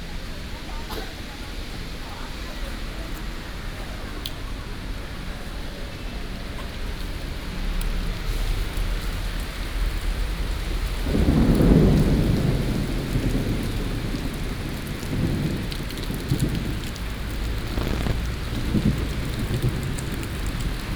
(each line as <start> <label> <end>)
0.0 Traffic Sound 20.9
0.0 Walking in the rain 20.9
8.0 Thunderstorm 20.9